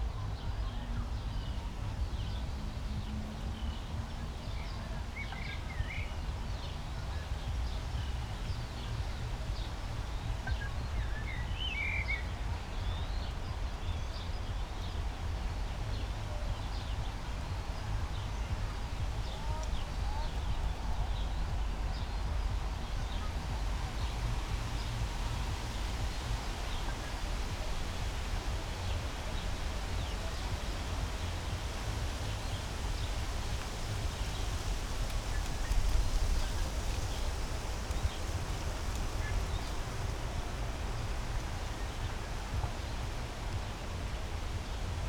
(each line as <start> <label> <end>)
0.0 poplar trees 45.0